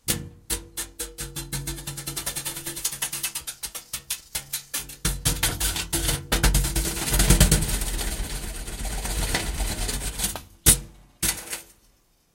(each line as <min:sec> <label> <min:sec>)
0:00.0 Brush hits on metal object 0:08.4